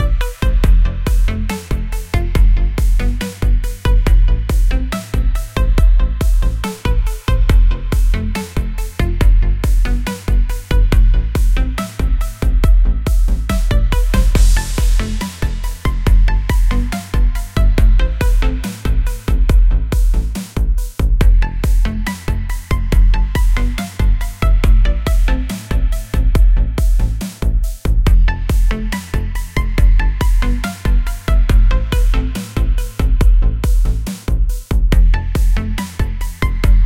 melancholic slow tune 0:00.0 - 0:36.8

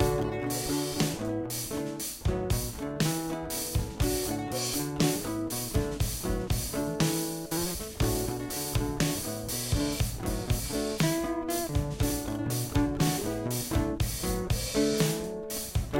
guitar 0:00.0 - 0:15.9

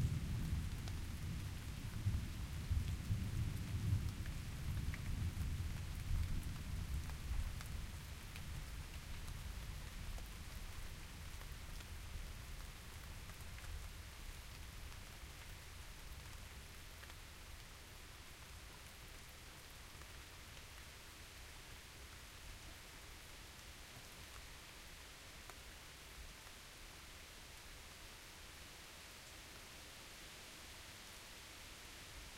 rain 0:00.0 - 0:32.3

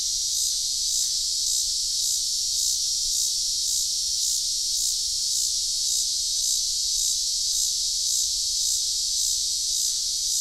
cicada song 0:00.0 - 0:10.4

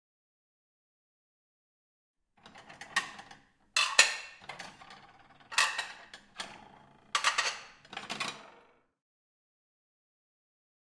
plates 0:02.4 - 0:08.6

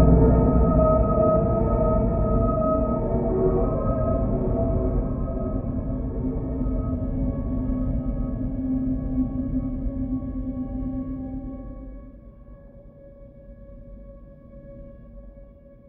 drone 0:00.0 - 0:12.5

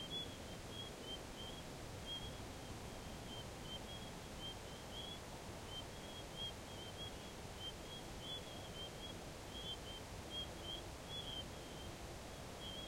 wind 0:00.0 - 0:12.8
crickets 0:12.6 - 0:12.8

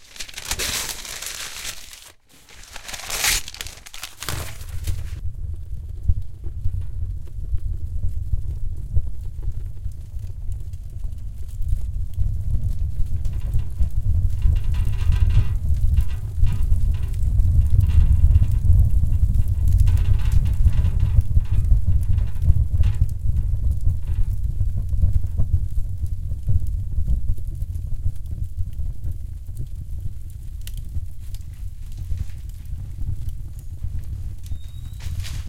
crumpled up some newspaper 0:00.0 - 0:05.2
fire rumbles the glass on the front of the stove 0:00.0 - 0:05.2
roaring fire 0:00.0 - 0:35.4
fire rumbles the glass on the front of the stove 0:10.8 - 0:25.8
fire rumbles the glass on the front of the stove 0:30.6 - 0:35.4
crumpled up some newspaper 0:34.4 - 0:35.4

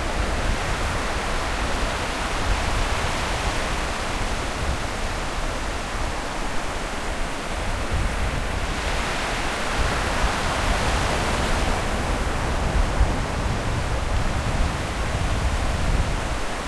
Waves at the beach 0:00.0 - 0:16.6
wind 0:00.0 - 0:16.6

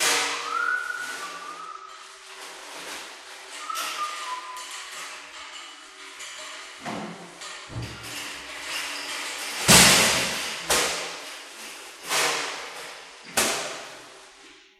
scrape 0:00.0 - 0:05.3
Whistling 0:00.1 - 0:02.2
Whistling 0:03.5 - 0:05.2
bash 0:09.6 - 0:11.3

